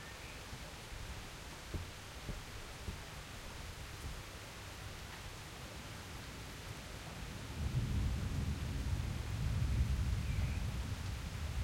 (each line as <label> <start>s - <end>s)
rain 0.0s - 11.6s
thunder 7.6s - 11.6s